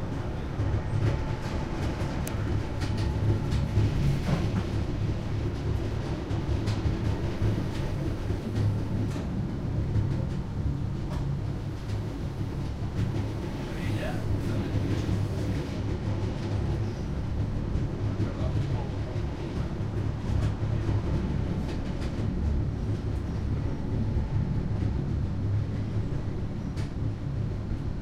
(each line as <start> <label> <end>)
0.0 little train climbing the Pyrenees mountains 28.0